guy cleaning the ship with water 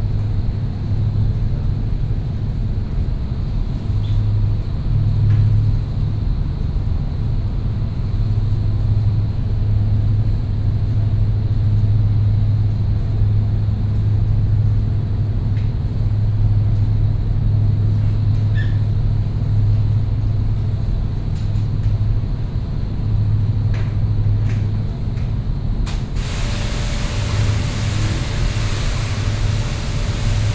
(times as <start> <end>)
25.9 30.5